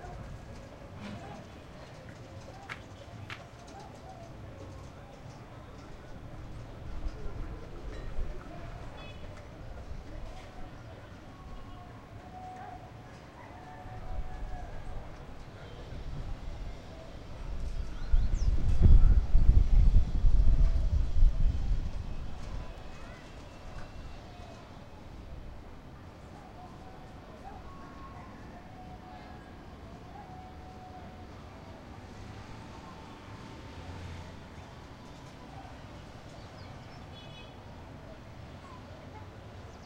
high flow of people 0.0 - 39.8
children playing 22.3 - 25.1

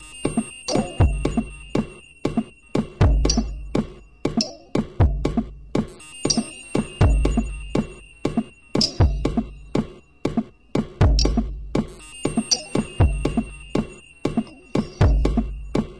drum 0.2 - 15.9

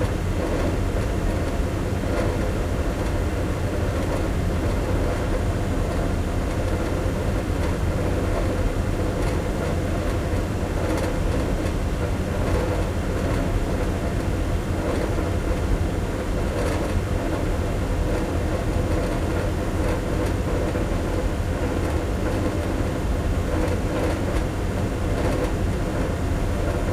ventilation fan close rattly1 0.0 - 26.9

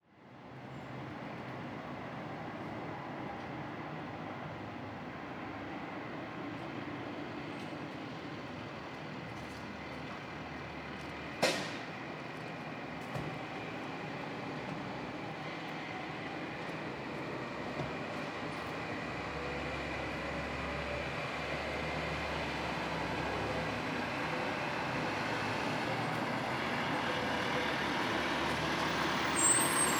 engine 0.0 - 29.9
traffic 0.1 - 29.9
things clatter and clang on the ground 11.4 - 11.9

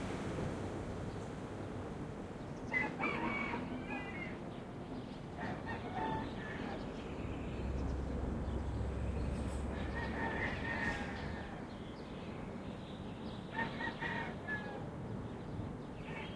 traffic 0.0 - 14.5

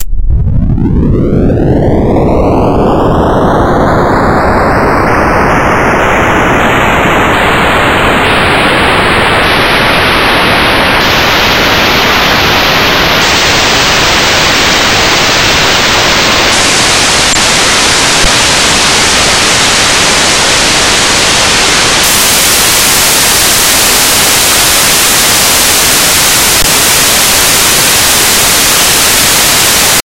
LFNoise1 FreqSweep 0.0 - 30.0

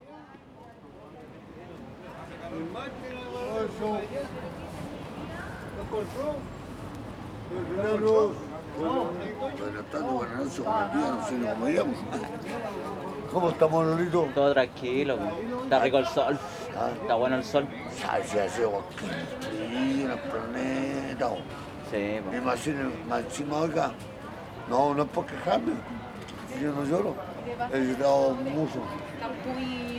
Conversation with a local drunkard 0.2 - 29.9

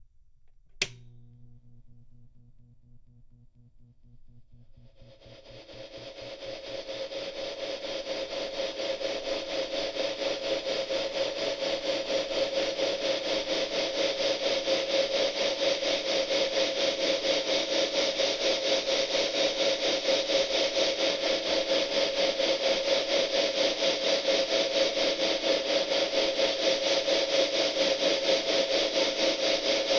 amp noise 0.1 - 9.4

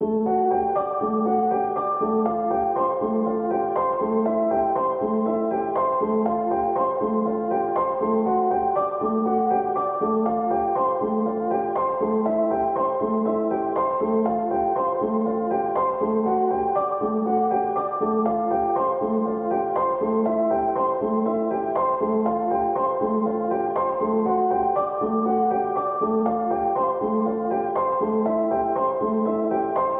piano 0.0 - 29.9

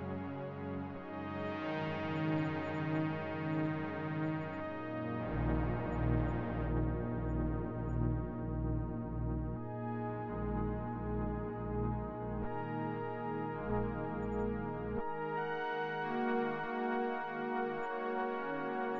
Synth 4.3 - 17.8

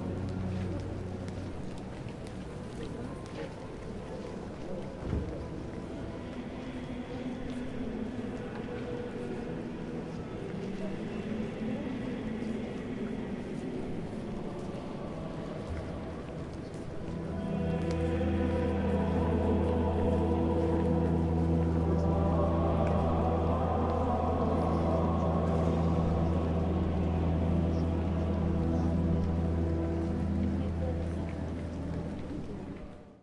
walla 0.0 - 33.1
music 0.0 - 33.2
footsteps 13.5 - 33.0

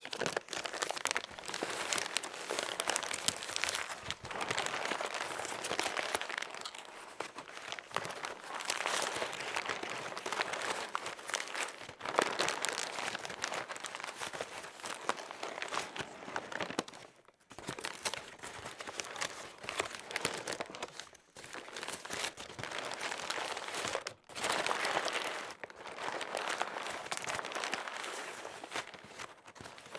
paper packaging being handled, squashed and squeezed 0.0 - 29.9

